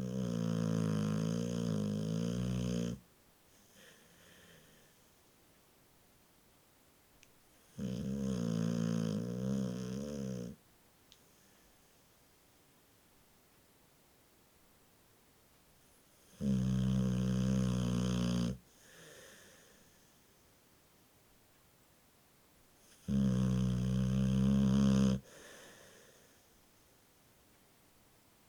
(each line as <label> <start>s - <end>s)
Bull mastiff asleep and snoring 0.0s - 3.0s
Bull mastiff asleep and snoring 7.6s - 10.6s
Bull mastiff asleep and snoring 16.2s - 20.0s
Bull mastiff asleep and snoring 22.8s - 26.4s